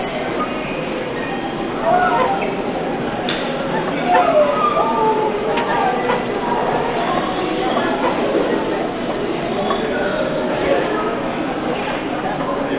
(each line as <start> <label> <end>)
0.0 creaking subway escalator 12.7